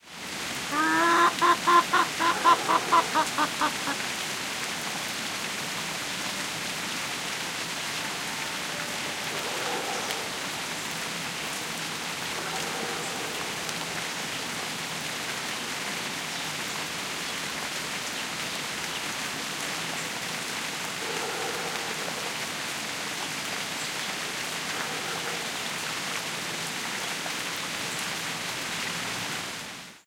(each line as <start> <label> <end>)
0.0 rain falls on orange trees 30.0
0.7 Hen clucking 4.0
0.7 rooster 4.0
9.3 barkings from a distant dog 10.6
21.0 barkings from a distant dog 22.5
24.6 barkings from a distant dog 25.8